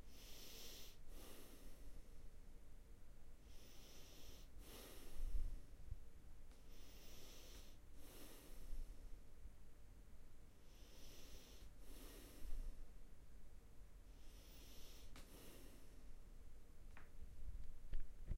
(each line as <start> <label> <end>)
0.0 calm breathing through the nose 2.3
3.4 calm breathing through the nose 5.9
6.6 calm breathing through the nose 9.2
10.6 calm breathing through the nose 13.0
14.1 calm breathing through the nose 16.2